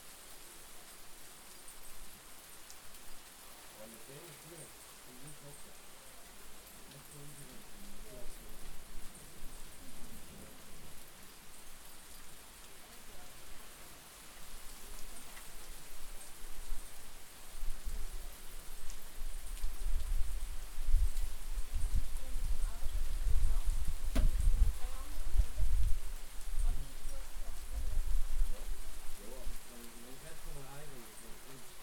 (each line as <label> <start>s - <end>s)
much rain 0.0s - 31.8s
wind 0.0s - 31.8s